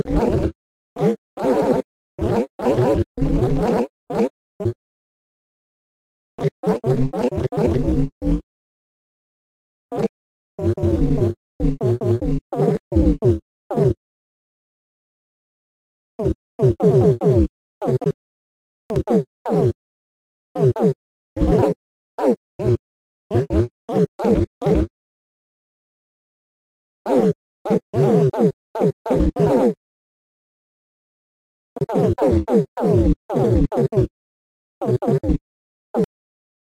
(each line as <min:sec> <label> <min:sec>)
0:00.0 Vocal 0:04.8
0:06.4 Vocal 0:08.5
0:09.9 Vocal 0:14.0
0:16.2 Vocal 0:18.2
0:18.9 Vocal 0:19.8
0:20.6 Vocal 0:24.9
0:27.1 Vocal 0:29.8
0:31.8 Vocal 0:34.2
0:34.8 Vocal 0:35.4